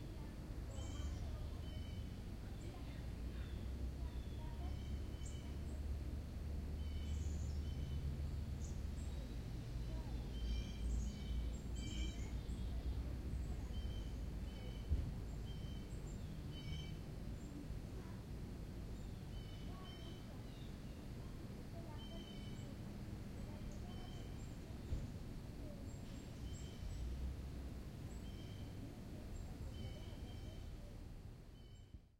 distant sound highway 0:00.0 - 0:31.8
birds 0:00.0 - 0:32.0

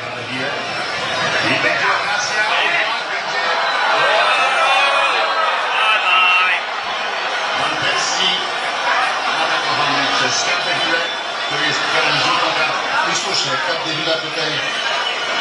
transmission of the final Fifa match 0:00.0 - 0:15.4
voices 0:00.2 - 0:15.4

